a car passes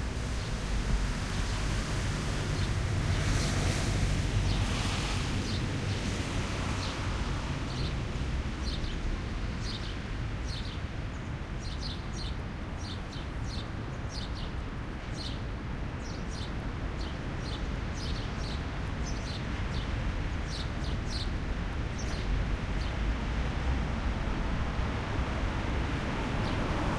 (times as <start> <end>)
0.1 9.5, 22.7 26.9